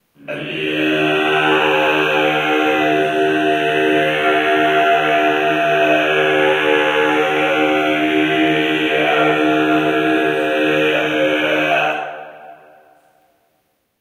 Throat Singing 0:00.2 - 0:12.8

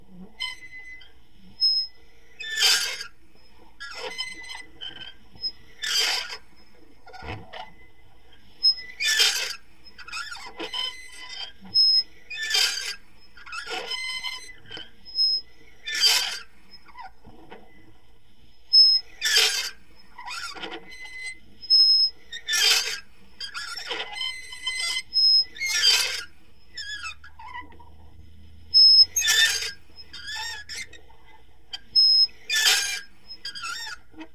slow squeaks with a toy meat grinder 0:00.1 - 0:34.3

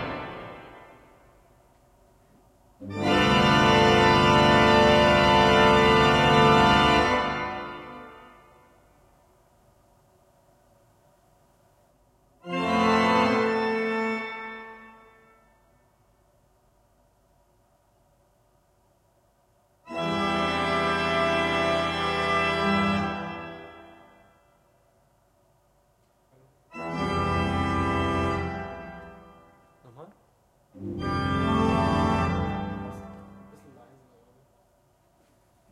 pressing on keys of massive church organ 0:02.8 - 0:09.0
pressing on keys of massive church organ 0:12.4 - 0:15.6
pressing on keys of massive church organ 0:19.8 - 0:24.3
pressing on keys of massive church organ 0:26.7 - 0:30.0
pressing on keys of massive church organ 0:30.8 - 0:34.2

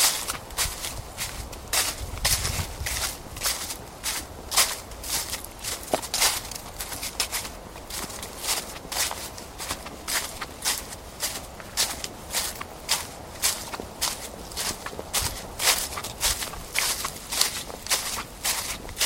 footsteps through dry crunching leaves 0:00.0 - 0:19.0

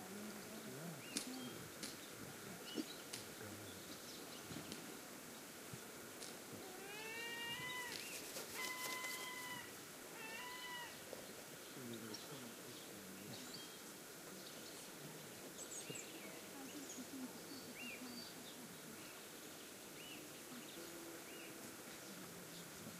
murmur of the walkers talking 0:00.0 - 0:09.4
bird song 0:01.0 - 0:04.8
seagull cry 0:06.8 - 0:11.0
bird song 0:10.8 - 0:22.8
murmur of the walkers talking 0:11.1 - 0:22.9

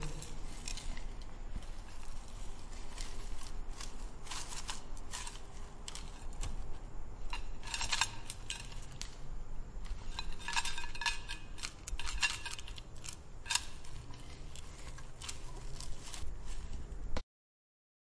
Loose leaf tea in a tin container 0:00.0 - 0:17.2

